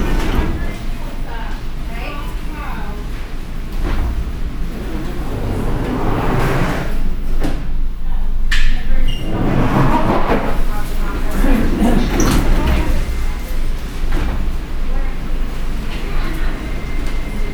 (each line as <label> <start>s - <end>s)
Walk through a busy supermarket 10.6s - 17.5s